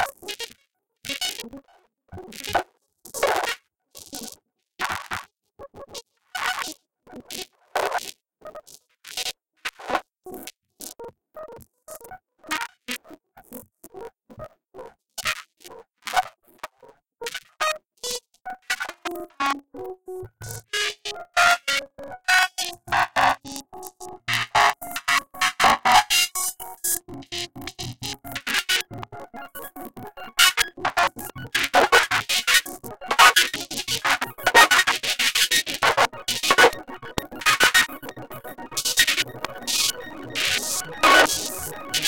Glitch sound FX that intensify 0:22.6 - 0:42.0

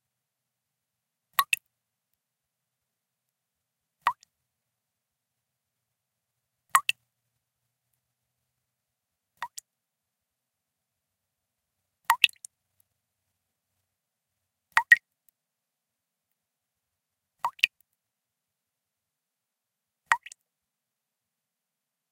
background noise 0:00.0 - 0:22.1
Drops of water falling at a relatively slow rate 0:01.3 - 0:04.5
Drops of water falling at a relatively slow rate 0:06.3 - 0:09.8
Drops of water falling at a relatively slow rate 0:10.9 - 0:15.4
Drops of water falling at a relatively slow rate 0:16.2 - 0:18.1
Drops of water falling at a relatively slow rate 0:20.0 - 0:20.5

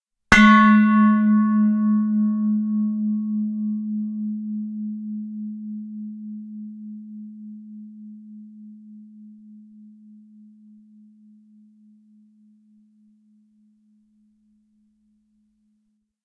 stainless steel bowl struck with a wooden striker 0:00.3 - 0:10.8

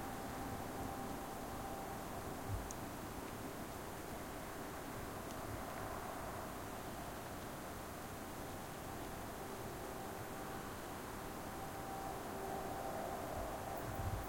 churchbells 0:00.0 - 0:03.2
churchbells 0:09.3 - 0:14.2

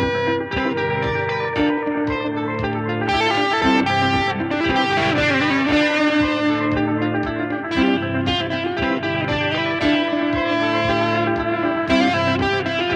electric guitar 0:00.0 - 0:12.9

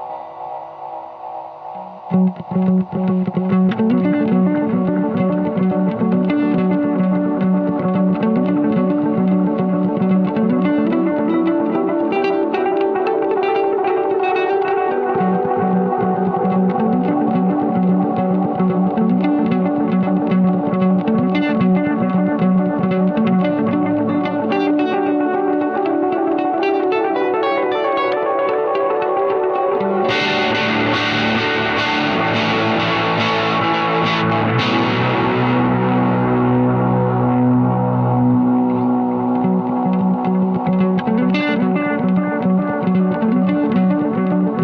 electric-guitar song 0:00.0 - 0:44.6

